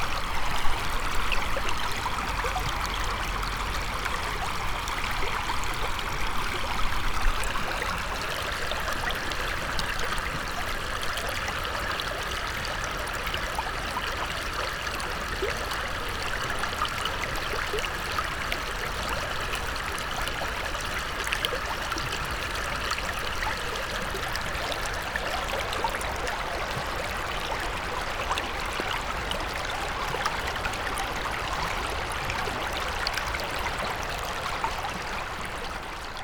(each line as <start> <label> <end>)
0.0 river 36.2